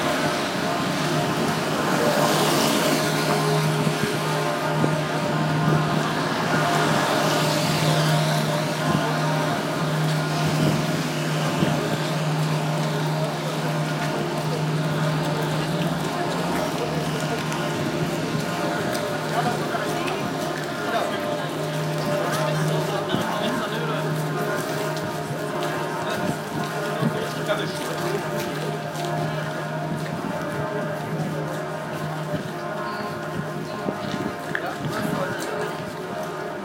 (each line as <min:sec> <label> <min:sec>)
0:00.0 bells 0:36.6